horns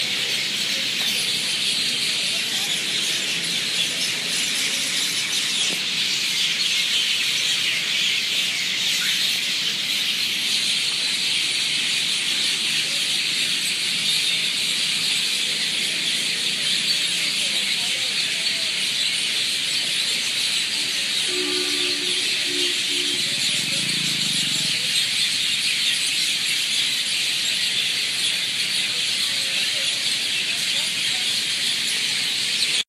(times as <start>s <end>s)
20.8s 24.4s